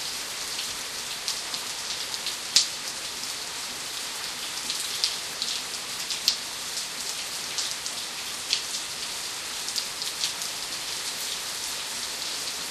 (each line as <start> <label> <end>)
0.0 rain 12.7